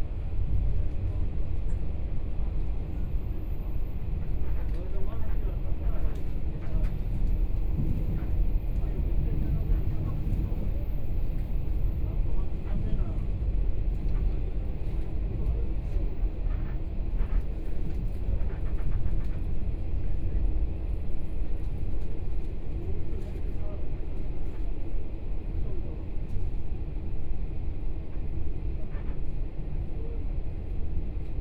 Train broadcast messages 0:02.8 - 0:12.3

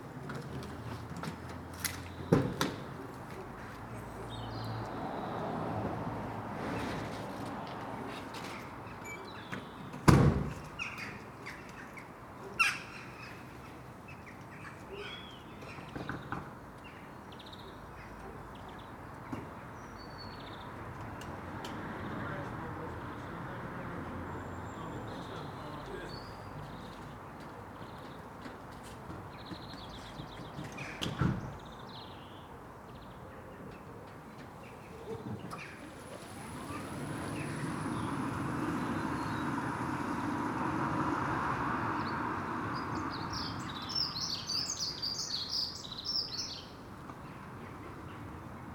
Electric van 0:35.6 - 0:43.0

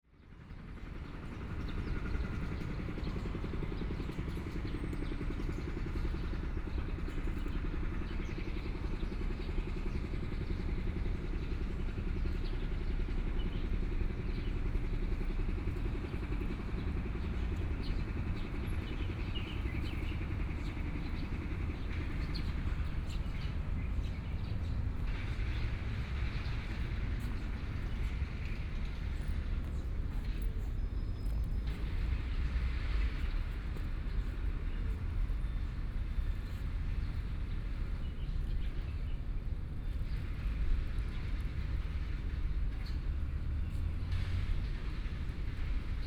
Road construction noise 0:00.2 - 0:46.0
Traffic Sound 0:11.8 - 0:46.0

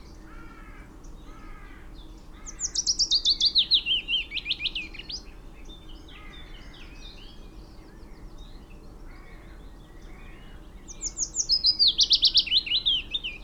blackbird 0:00.0 - 0:13.4
willow warbler 0:00.0 - 0:13.4
crow 0:00.2 - 0:02.8
crow 0:06.1 - 0:06.9
crow 0:09.1 - 0:10.6

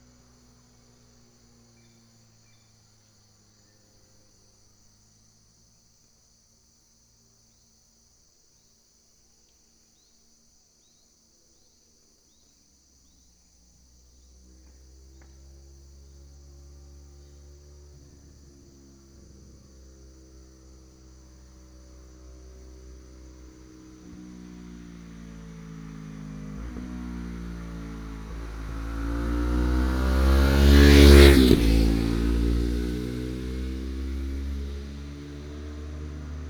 motorcycle 0:00.0 - 0:05.8
motorcycle 0:12.3 - 0:36.4

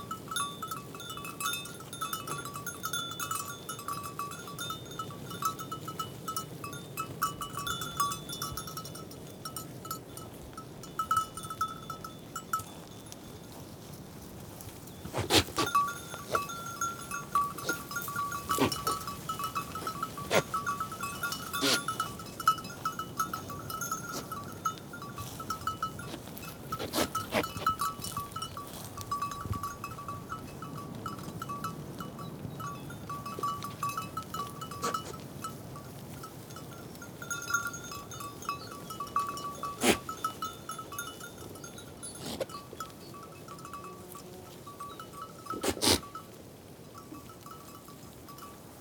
Goats grazing in the meadows 0:00.0 - 0:48.8

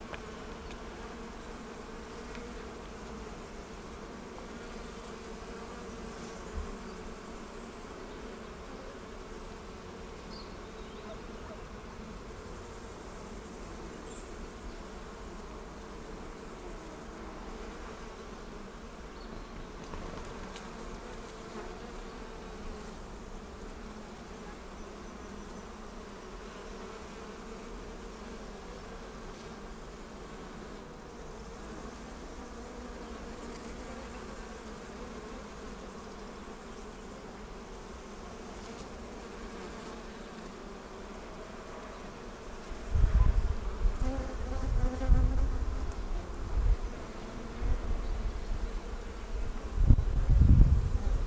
swarm of bees 0:00.0 - 0:51.2
birds 0:10.2 - 0:11.7
birds 0:19.0 - 0:20.3

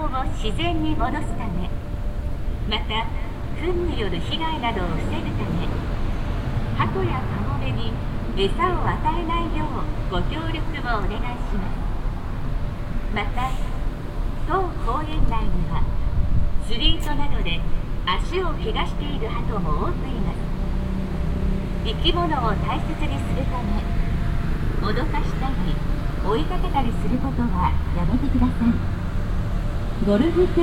automatic loud speaker announcement 0:00.0 - 0:01.8
automatic loud speaker announcement 0:02.7 - 0:05.8
automatic loud speaker announcement 0:06.8 - 0:11.9
automatic loud speaker announcement 0:13.1 - 0:13.8
automatic loud speaker announcement 0:14.4 - 0:16.0
automatic loud speaker announcement 0:16.6 - 0:20.5
automatic loud speaker announcement 0:21.9 - 0:24.0
automatic loud speaker announcement 0:24.7 - 0:28.9
automatic loud speaker announcement 0:30.0 - 0:30.6

